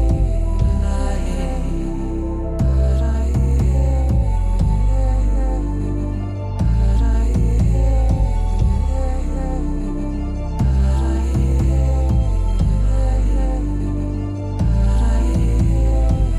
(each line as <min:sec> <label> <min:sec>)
0:00.0 Experimental electronica 0:16.3